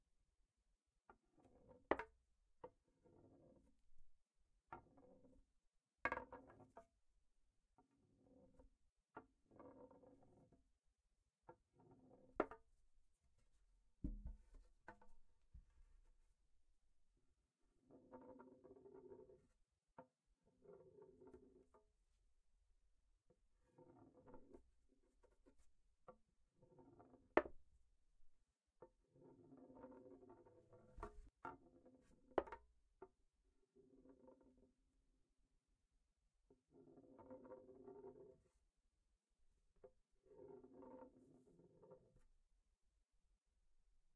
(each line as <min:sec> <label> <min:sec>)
0:01.4 Wooden balls rolling on a 2x4 plank 0:03.7
0:06.0 Wooden balls rolling on a 2x4 plank 0:06.8
0:08.1 Wooden balls rolling on a 2x4 plank 0:10.6
0:11.4 Wooden balls rolling on a 2x4 plank 0:12.8
0:14.0 Wooden balls rolling on a 2x4 plank 0:15.2
0:17.8 Wooden balls rolling on a 2x4 plank 0:21.9
0:23.6 Wooden balls rolling on a 2x4 plank 0:27.8
0:28.8 Wooden balls rolling on a 2x4 plank 0:33.2
0:33.8 Wooden balls rolling on a 2x4 plank 0:34.8
0:36.5 Wooden balls rolling on a 2x4 plank 0:38.5
0:39.8 Wooden balls rolling on a 2x4 plank 0:42.3